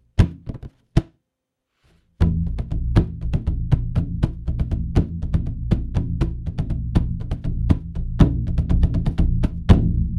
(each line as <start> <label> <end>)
0.2 Mixed drum rhythm 17 inch drum dry 1.2
2.2 Mixed drum rhythm 17 inch drum dry 10.1